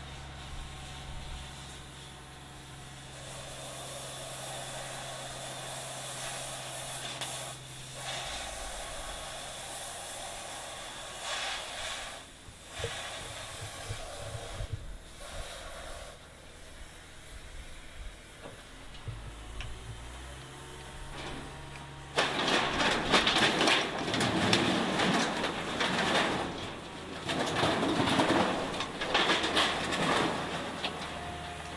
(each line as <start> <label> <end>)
0.0 carwash being picked up by a crane 14.2
18.1 carwash being picked up by a crane 31.7